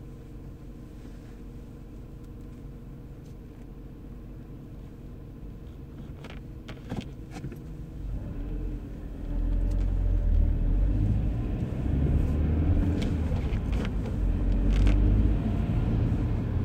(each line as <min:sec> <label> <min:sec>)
0:00.0 Driving 0:16.6